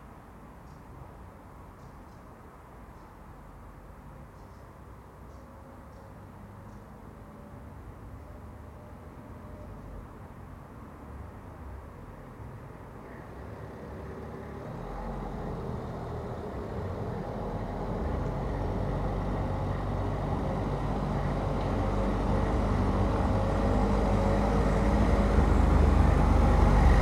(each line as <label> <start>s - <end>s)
A car passes and parks 0.4s - 27.0s
The metro rumbles 13.0s - 27.0s